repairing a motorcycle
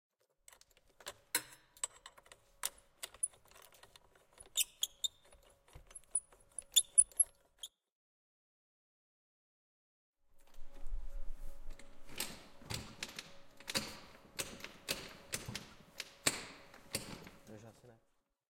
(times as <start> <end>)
0.2 7.7